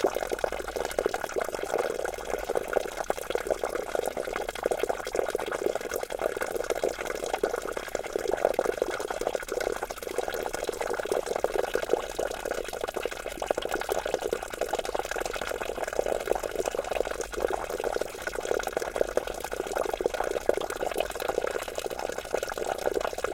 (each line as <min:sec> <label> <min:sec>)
0:00.0 small stream 0:23.3